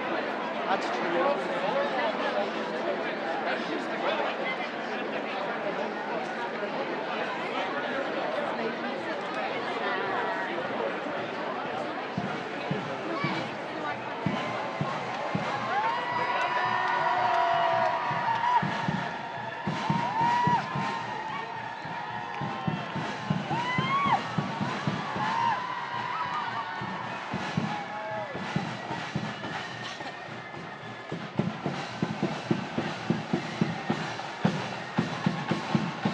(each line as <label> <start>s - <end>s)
chants 0.0s - 36.1s
chatter 0.0s - 36.1s
marching 9.6s - 36.1s